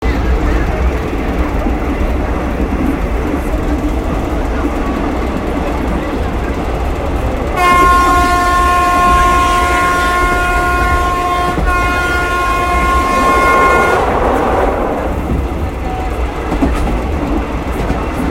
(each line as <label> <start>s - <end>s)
train 0.0s - 18.3s
train honks 7.6s - 15.2s